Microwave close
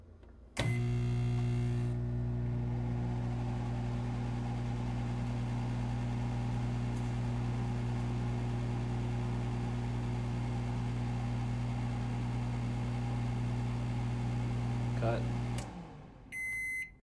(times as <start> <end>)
0.6 8.1